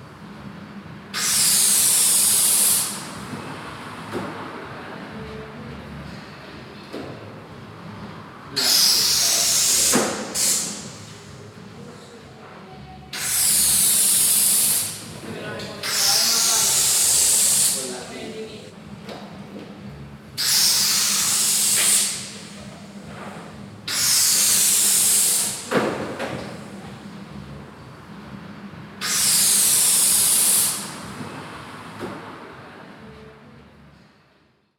1.1s balloons being filled with helium gas 3.2s
8.6s balloons being filled with helium gas 11.0s
13.1s balloons being filled with helium gas 15.0s
15.8s balloons being filled with helium gas 17.8s
20.4s balloons being filled with helium gas 22.4s
23.9s balloons being filled with helium gas 25.7s
29.0s balloons being filled with helium gas 31.0s

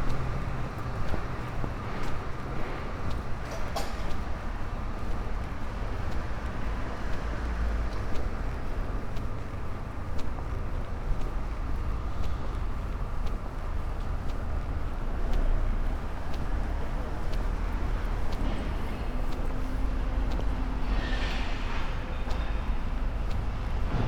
0.0s people walk by 24.0s
0.0s walking along popular promenade 24.0s

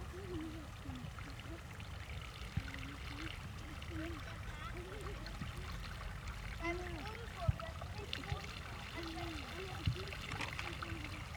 0.0s Children direct and play with water flows 11.3s

